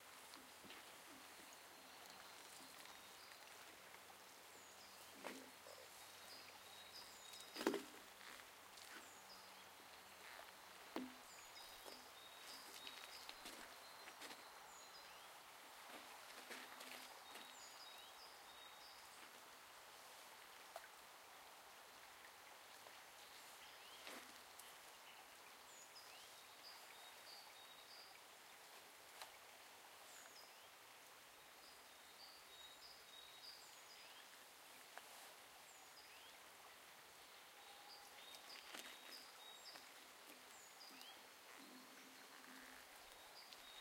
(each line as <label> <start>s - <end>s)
Steps in the forest 0.0s - 19.5s
Steps in the forest 22.7s - 30.5s
Steps in the forest 37.6s - 43.8s